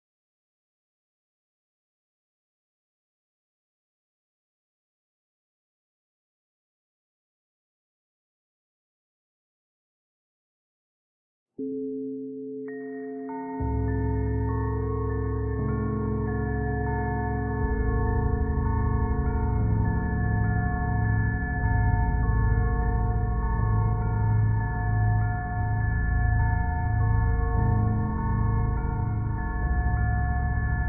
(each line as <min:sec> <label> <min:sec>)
0:12.3 background music 0:30.8